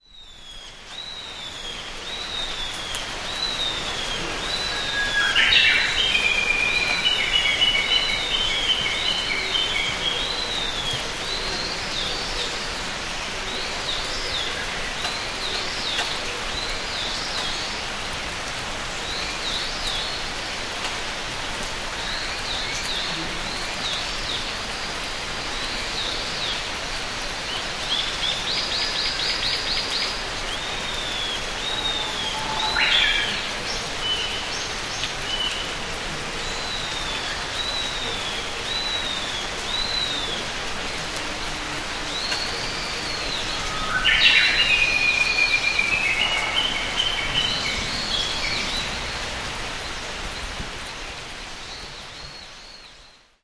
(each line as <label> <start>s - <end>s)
gentle rain 0.0s - 53.4s
Japanese bush warbler was twittering 27.9s - 35.1s
Japanese bush warbler was twittering 42.1s - 50.5s